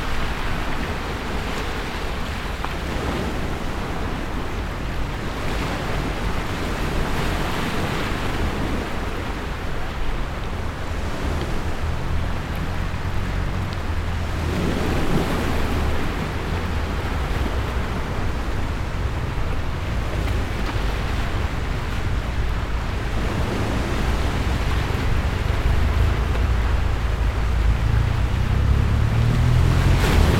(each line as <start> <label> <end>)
0.0 road noise 30.3
0.0 wave sound 30.3